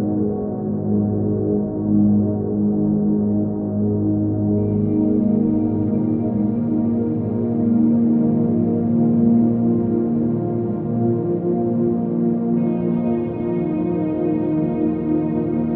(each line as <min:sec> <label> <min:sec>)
0:04.6 drone 0:15.7